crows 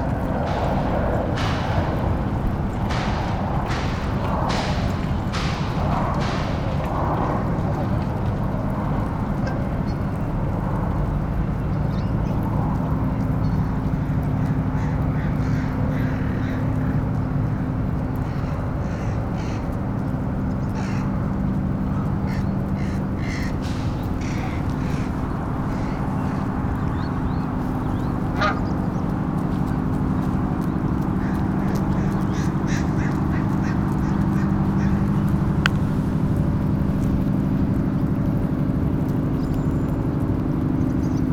13.2 37.5

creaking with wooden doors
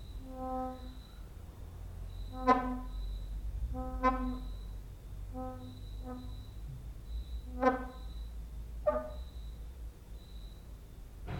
2.1 4.7, 5.3 9.5

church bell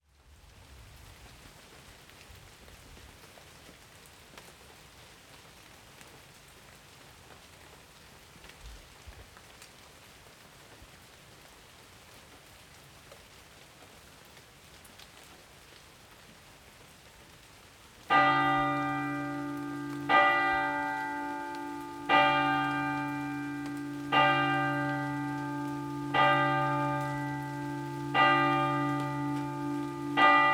18.1 30.5

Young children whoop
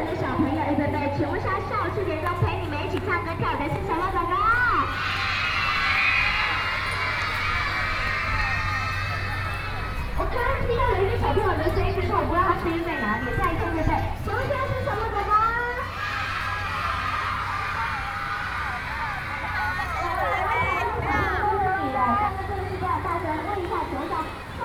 4.8 10.1, 15.9 21.3

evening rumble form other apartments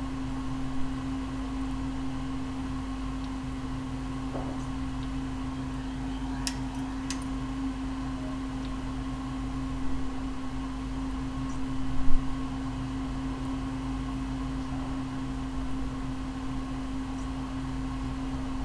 1.1 9.8

